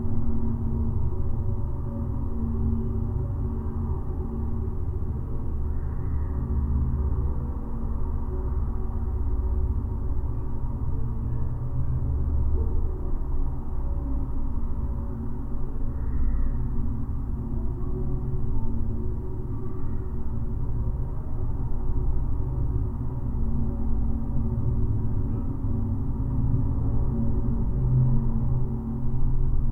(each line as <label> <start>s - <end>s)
town in low frequencies 0.0s - 29.7s